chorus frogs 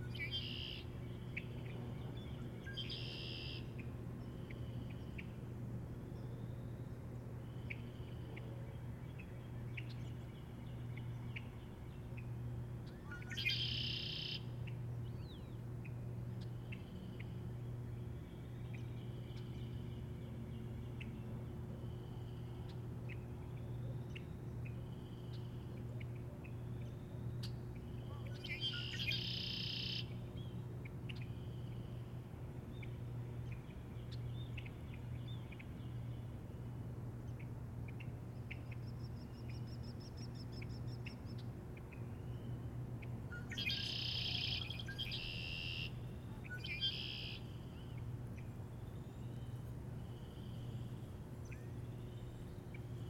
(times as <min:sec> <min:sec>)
0:43.6 0:46.0